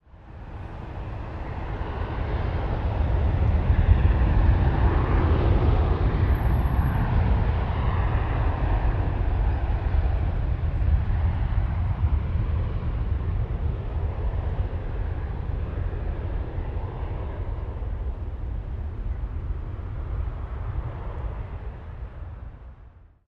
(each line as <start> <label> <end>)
0.1 commercial jet plane taking off 23.2